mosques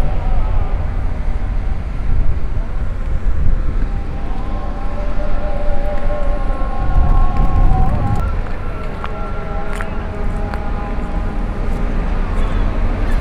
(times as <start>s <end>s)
6.8s 10.0s